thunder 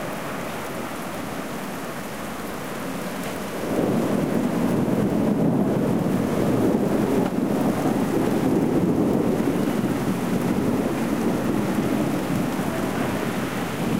0:03.6 0:13.9

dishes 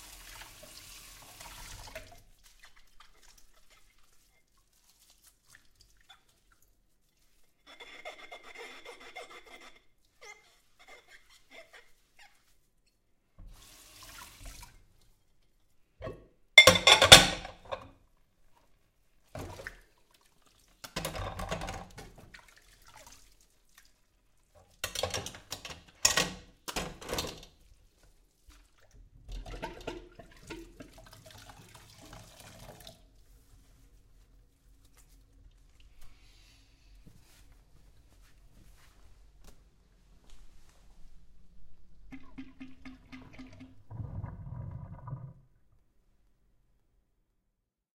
0:16.0 0:17.9

